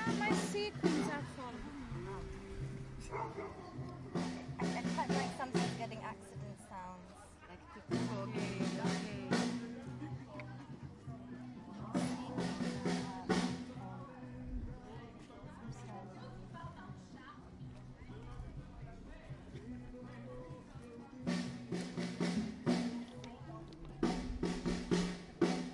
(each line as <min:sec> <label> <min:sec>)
0:00.0 start of a drumming band 0:06.9
0:00.0 little chat 0:25.7
0:07.8 start of a drumming band 0:14.9
0:18.4 start of a drumming band 0:25.7